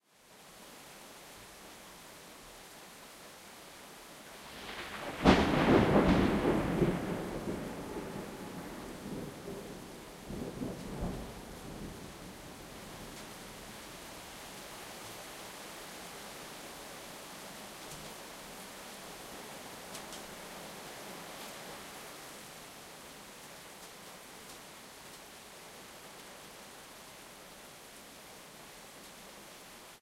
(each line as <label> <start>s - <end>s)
heavy rain 0.1s - 30.0s
lightning 4.4s - 12.4s